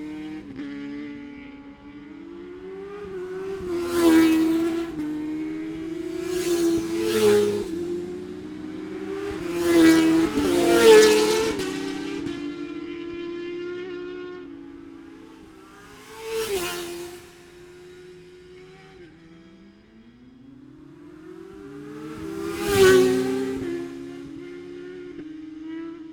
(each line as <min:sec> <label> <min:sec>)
0:00.0 motorcycle road racing 0:26.1